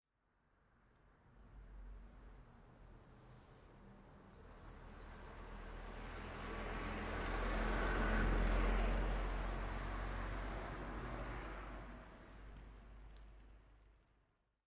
5.0s Old Truck Pass By 12.8s

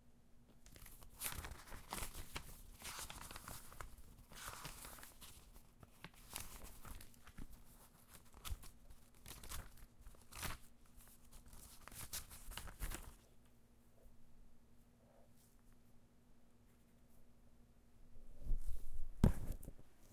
0.5s flipping a few pages 13.6s
18.4s flipping a few pages 20.1s

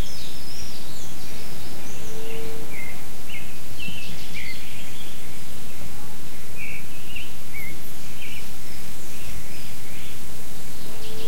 0.0s Birds singing 11.2s

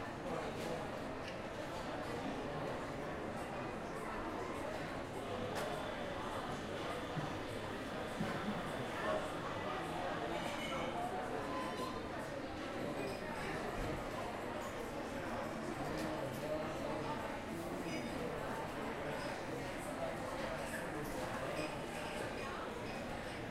0.0s hustle and bustle of the restaurants 23.5s
0.0s people 23.5s

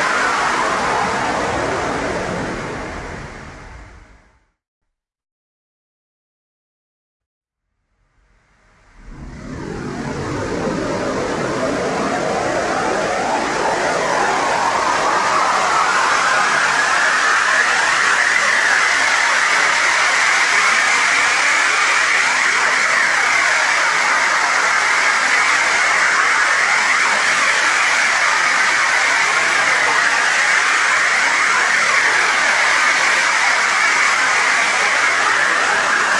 8.2s bandpassed noise 18.5s

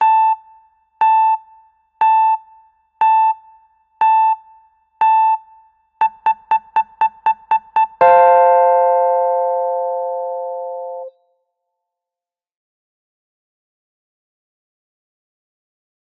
6.0s countdown bell sound 11.1s

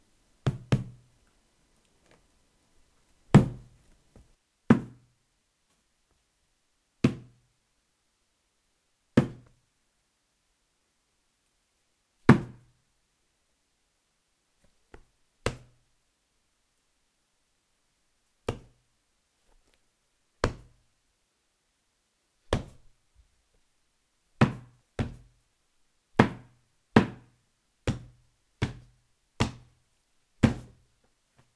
0.4s Hit with a metal bar on a cloth 1.0s
4.7s Hit with a metal bar on a cloth 5.1s
7.0s Hit with a metal bar on a cloth 7.4s
12.3s Hit with a metal bar on a cloth 12.6s
24.4s Hit with a metal bar on a cloth 25.3s
26.2s Hit with a metal bar on a cloth 27.3s
27.9s Hit with a metal bar on a cloth 29.7s
30.4s Hit with a metal bar on a cloth 30.8s

